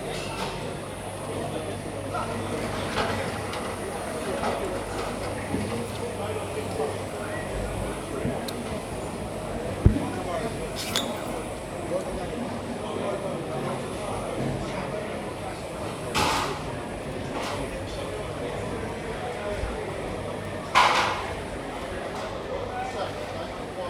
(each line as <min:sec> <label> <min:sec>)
0:00.0 Walking around the market 0:23.8
0:00.0 traders, porters, customers 0:23.8